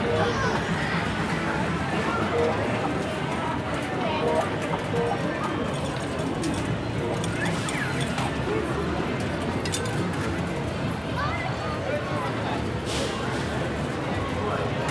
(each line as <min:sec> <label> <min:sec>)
0:00.0 arcade machines 0:10.9